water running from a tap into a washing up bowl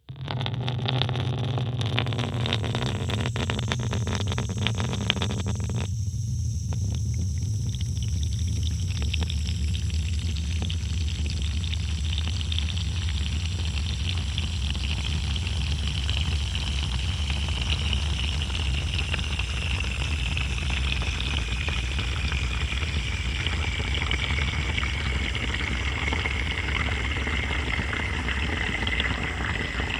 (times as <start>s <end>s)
6.6s 29.9s